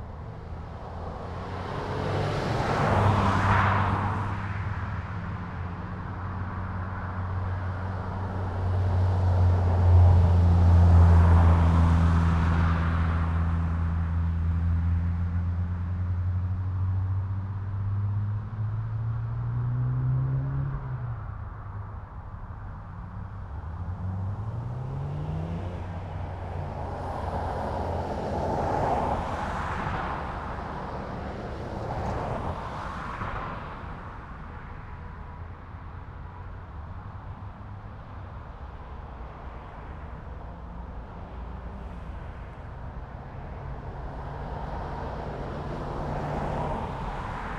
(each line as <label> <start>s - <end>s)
Street Car Racing 0.0s - 47.5s
vans, buses and trucks 0.0s - 47.5s